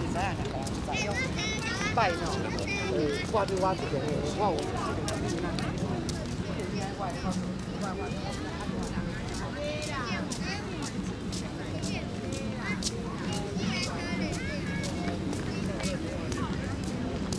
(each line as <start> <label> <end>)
12.6 Children 16.5